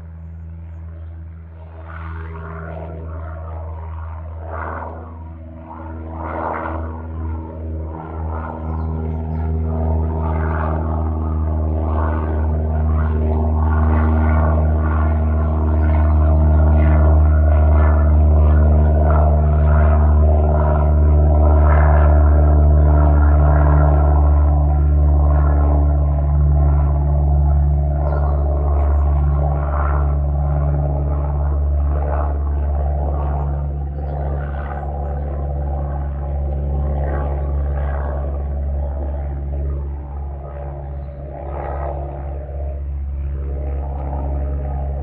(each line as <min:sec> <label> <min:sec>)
0:00.0 single engined light aircraft flying directly overhead 0:45.0